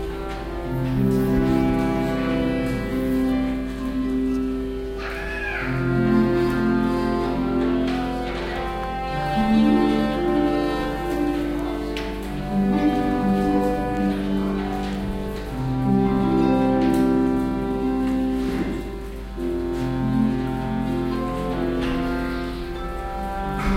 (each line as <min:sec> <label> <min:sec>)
0:00.0 Harp 0:23.7
0:00.0 traditional folk galician instrument called Zanfona 0:23.7